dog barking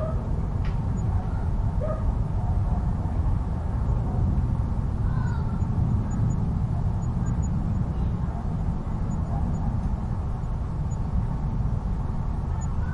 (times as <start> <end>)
1.2 3.2